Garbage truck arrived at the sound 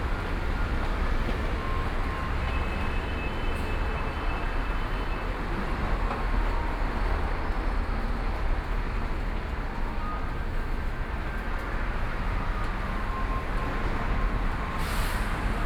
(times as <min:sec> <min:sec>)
0:12.6 0:15.6